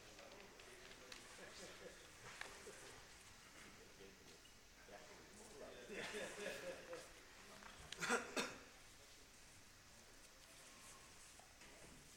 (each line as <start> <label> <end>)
0.0 Quiet rams in the auction ring 12.1